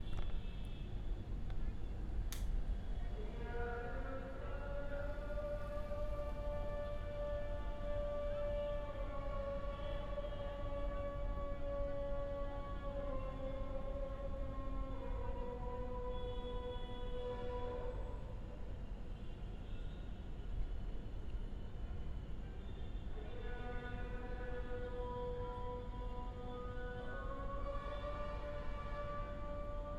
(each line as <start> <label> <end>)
3.1 a man sing 16.7
23.2 a man sing 29.9